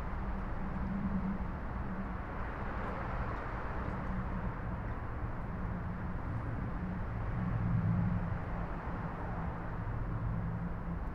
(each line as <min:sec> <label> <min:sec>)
0:00.0 wind 0:11.1